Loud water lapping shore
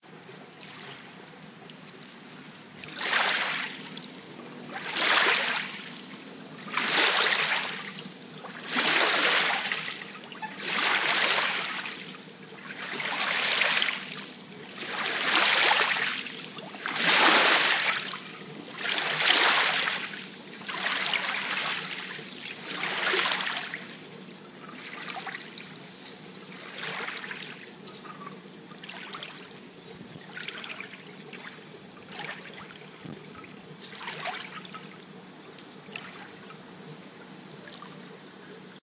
2.5 24.0, 24.7 25.7, 26.5 28.2, 28.8 29.6, 30.2 33.1, 33.9 34.8

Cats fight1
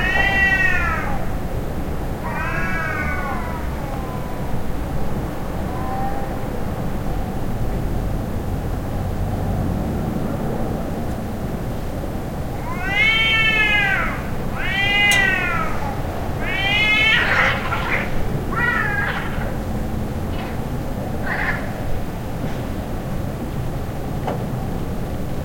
12.7 19.6

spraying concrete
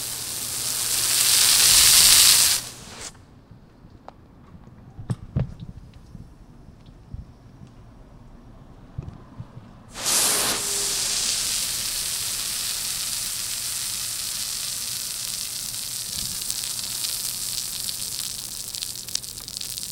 0.0 3.1, 9.9 19.9

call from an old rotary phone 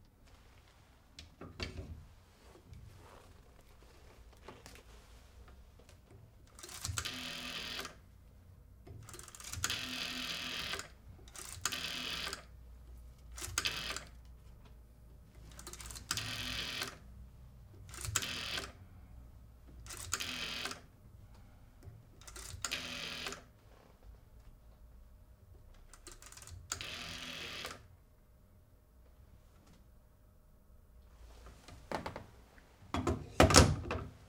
6.6 8.0, 9.4 12.5, 13.4 14.1, 15.6 17.0, 17.9 18.8, 19.9 20.9, 22.3 23.5, 26.7 27.8

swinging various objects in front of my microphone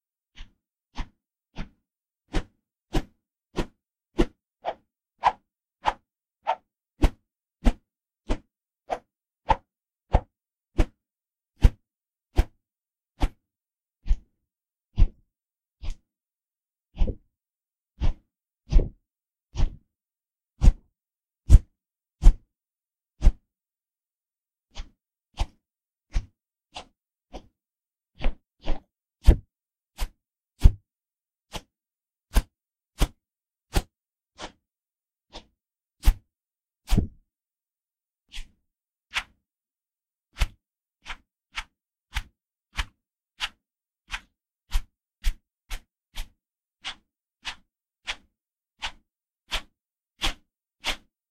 0.4 11.0, 15.0 15.2, 17.0 17.2, 18.0 19.0, 19.6 19.8, 20.6 20.9, 24.7 27.5, 28.2 30.8, 31.5 31.7, 32.3 34.6, 35.3 36.2, 36.9 37.2

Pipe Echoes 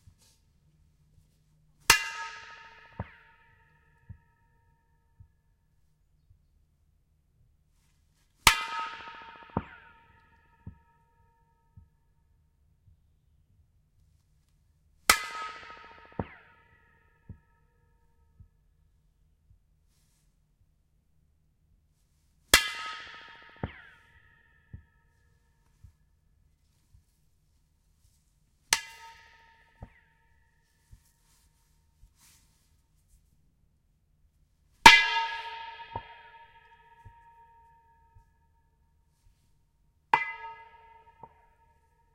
1.9 5.4, 8.4 12.0, 15.1 18.6, 22.5 26.2, 28.7 32.7, 34.8 42.1

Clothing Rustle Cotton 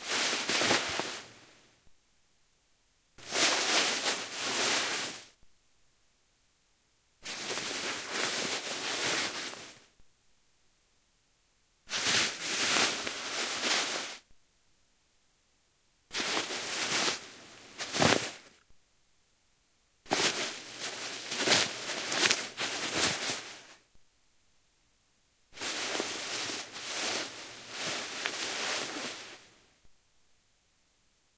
0.0 1.6, 3.2 5.4, 7.2 9.9, 11.9 14.3, 16.1 18.6, 20.1 23.9, 25.6 29.7

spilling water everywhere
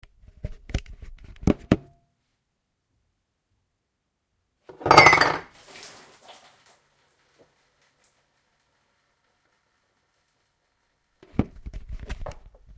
5.5 9.0

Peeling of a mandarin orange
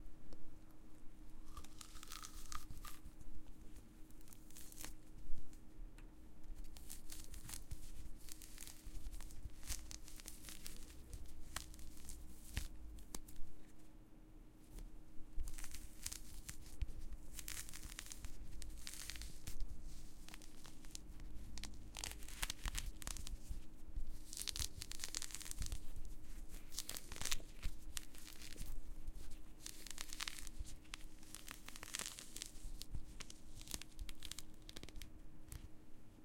1.4 3.2, 6.6 13.4, 15.4 35.6

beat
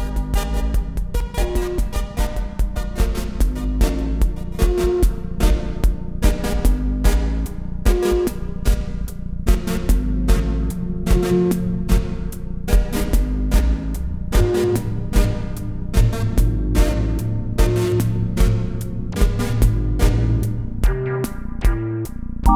20.8 22.5

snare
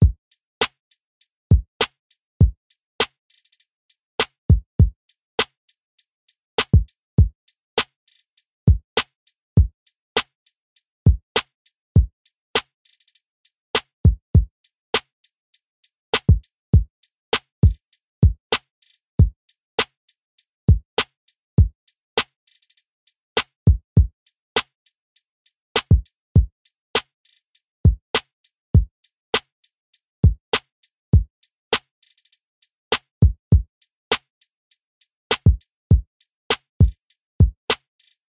0.6 0.8, 1.8 2.0, 3.0 3.6, 6.6 6.8, 7.8 8.2, 9.0 9.2, 12.6 13.2, 16.1 16.3, 17.3 17.8, 18.5 19.0, 21.0 21.2, 22.2 22.7, 23.4 23.6, 25.8 26.0, 27.0 27.4, 29.3 29.5, 30.5 30.7, 31.7 32.3, 35.3 35.6, 36.5 37.0, 37.7 38.2

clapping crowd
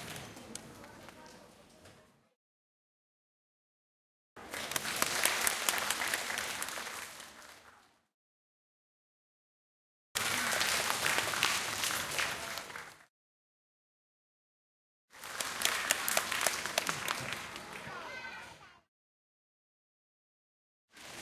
4.4 8.1, 10.2 13.1, 15.1 18.8

